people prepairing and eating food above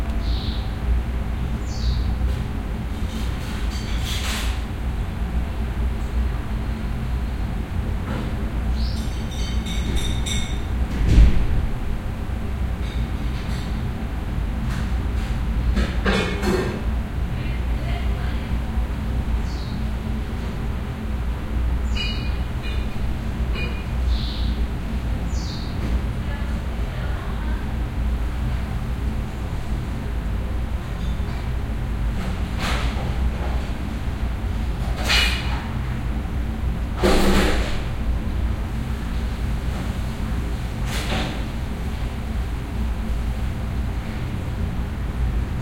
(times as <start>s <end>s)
14.5s 19.3s